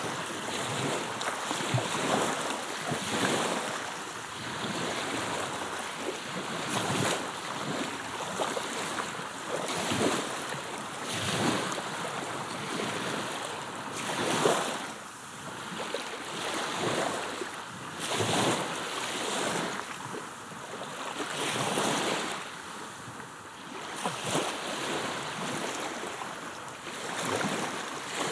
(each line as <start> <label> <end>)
0.0 Calm Black Sea 28.3